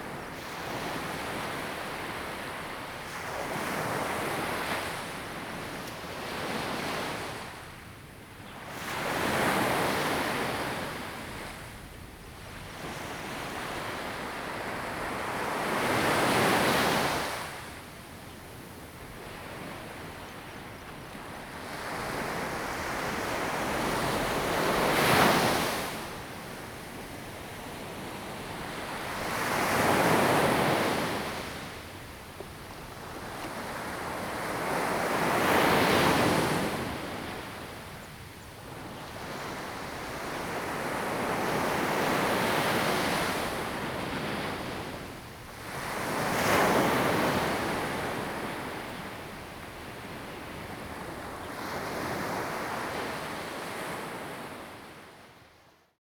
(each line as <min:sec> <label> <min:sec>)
0:38.8 waves 0:55.2